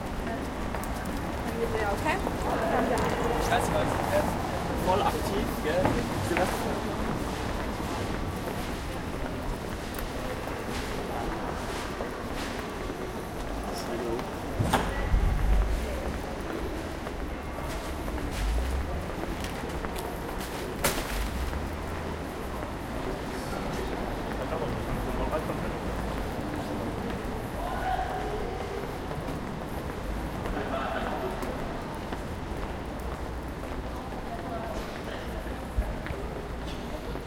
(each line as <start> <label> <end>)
0.1 conversation 12.6
13.2 conversation 29.0